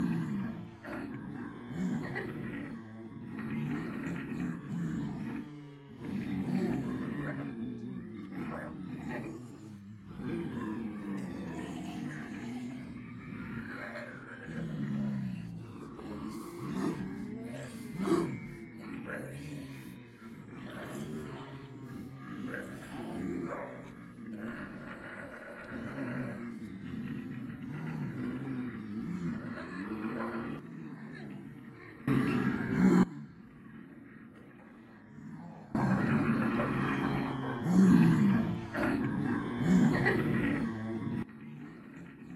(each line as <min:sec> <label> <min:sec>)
0:00.0 Multiple people pretending to be zombies 0:42.3